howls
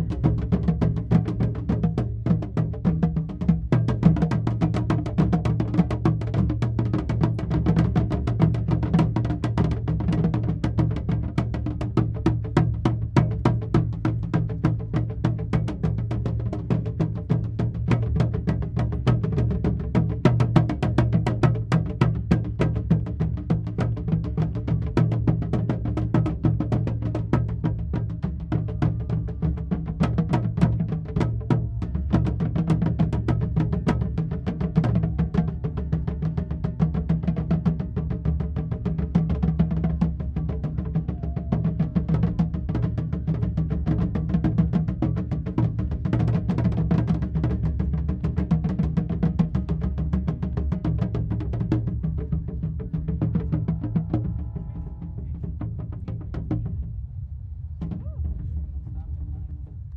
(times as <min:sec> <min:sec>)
0:41.0 0:42.0